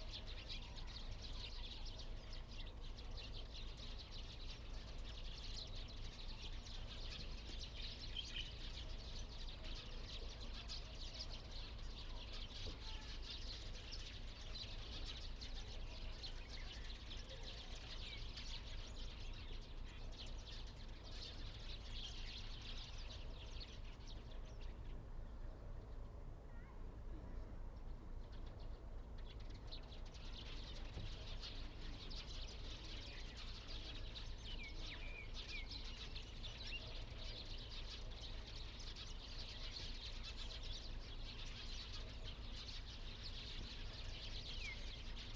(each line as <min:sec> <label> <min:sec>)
0:28.4 Birds singing 0:45.3